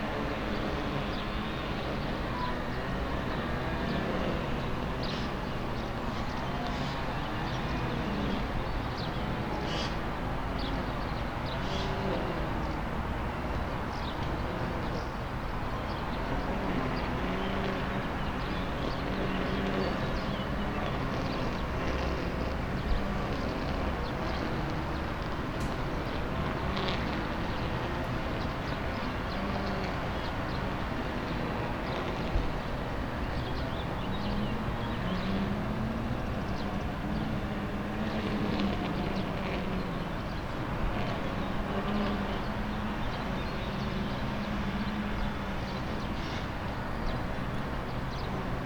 16.2s lawnmowers race 48.6s

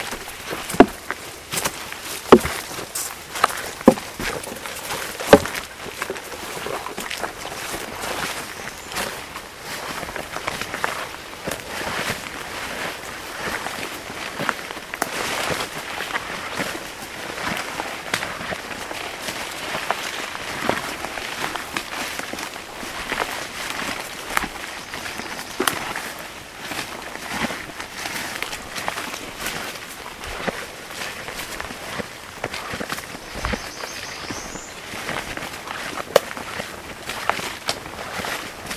0.0s stream 38.7s
8.1s field sparrow 9.4s
32.7s field sparrow 35.3s

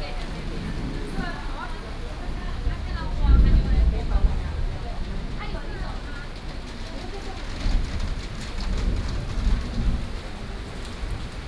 0.0s Thunderstorms 11.4s
0.0s rain 11.4s
0.0s walking in the Street 11.4s

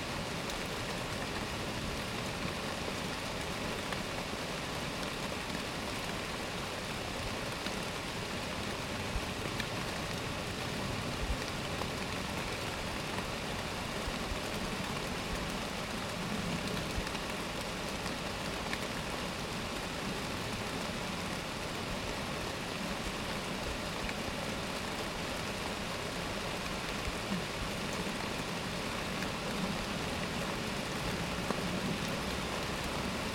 0.0s Trees in heavy rain 33.3s

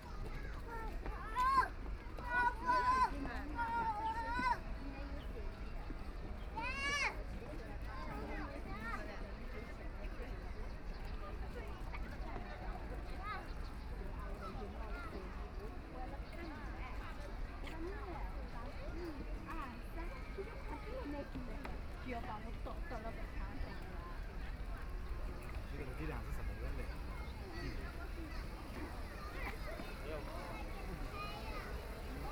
0.0s Walking through the park 32.3s
0.0s crowd 32.3s

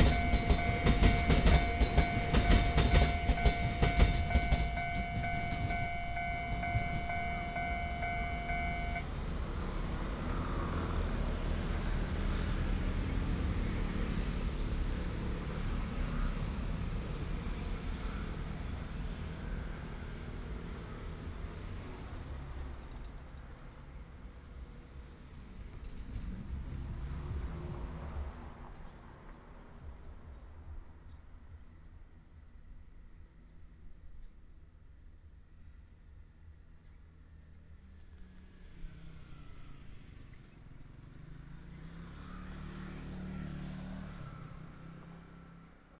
0.0s The train runs through 31.8s

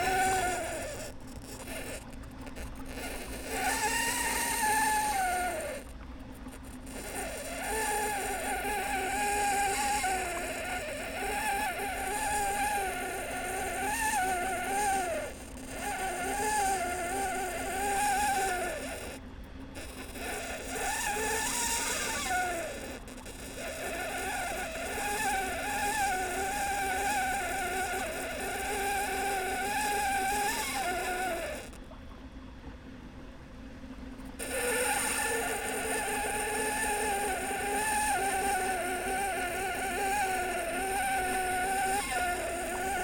0.0s turbine de fontaine obstruer par des feuilles 43.0s

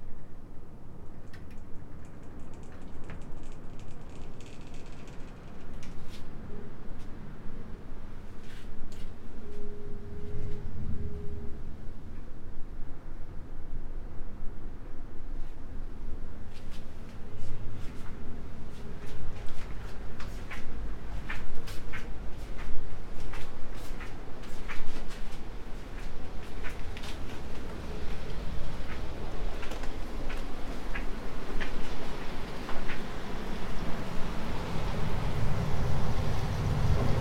1.3s opening/closing the doors 6.1s

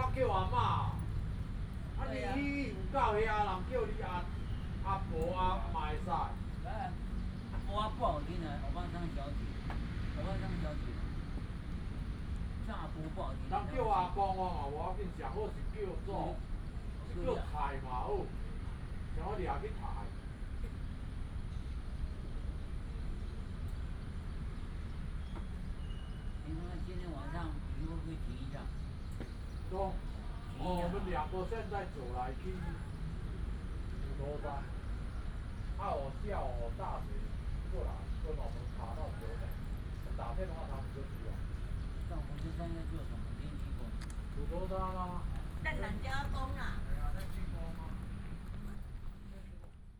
0.0s group of old people in the chat 23.0s
0.0s Traffic sound 49.9s
23.9s group of old people in the chat 49.9s

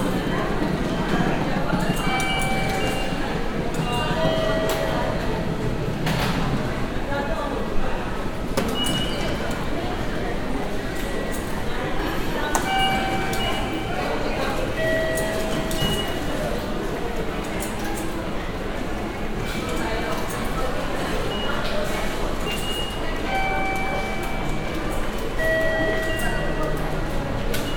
0.0s ticket gates 27.7s
0.0s train driving in the station 27.7s

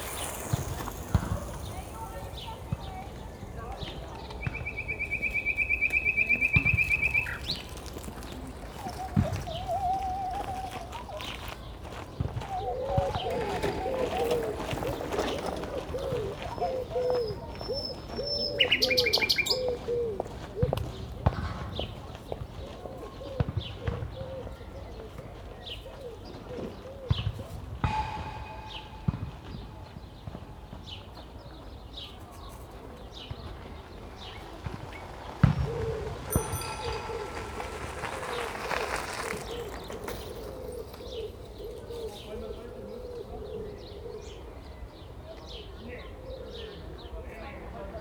0.0s footballs striking the fence 11.2s
0.0s traffic 19.7s
0.0s Nightingales 20.2s
27.2s footballs striking the fence 30.7s
32.0s traffic 43.6s
33.2s footballs striking the fence 42.2s

